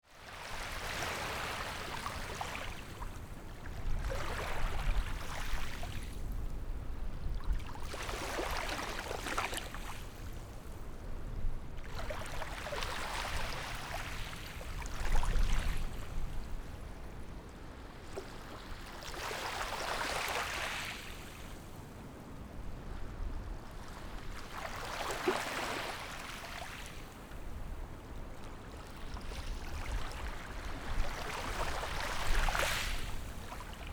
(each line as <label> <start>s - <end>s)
Waves and tides 0.1s - 33.9s